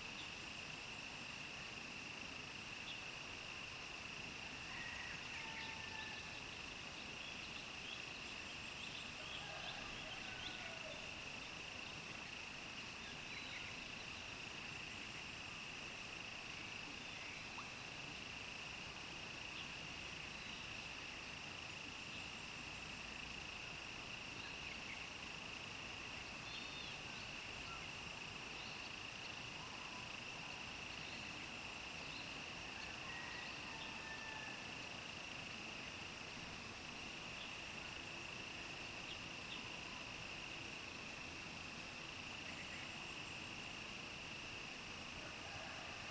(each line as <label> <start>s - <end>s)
Insect sounds 0.0s - 46.1s